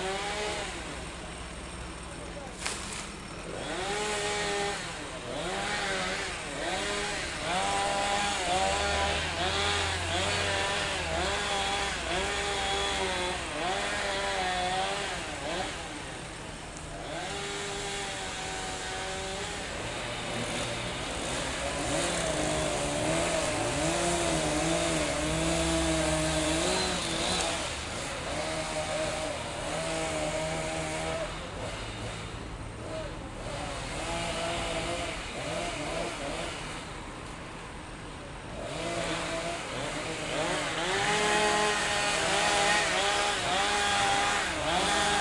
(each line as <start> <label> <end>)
0.0 cutting trees 45.2
0.0 noisy street 45.2